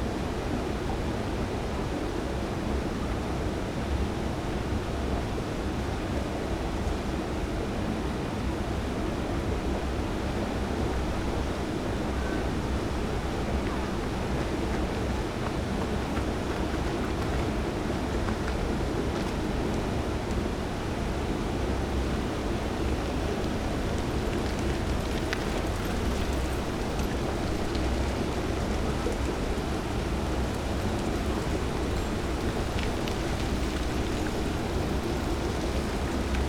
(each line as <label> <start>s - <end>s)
trains 0.1s - 36.4s
bikes 10.6s - 20.5s
runners 11.0s - 20.9s
voices of nearby strollers 11.1s - 20.0s
bikes 21.9s - 36.4s
gush of water 22.0s - 36.4s
runners 22.6s - 36.4s
voices of nearby strollers 22.8s - 36.4s